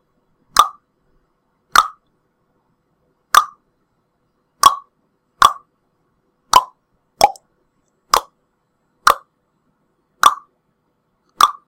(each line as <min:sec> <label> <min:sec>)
0:06.5 tongue clicking 0:07.4
0:11.4 tongue clicking 0:11.6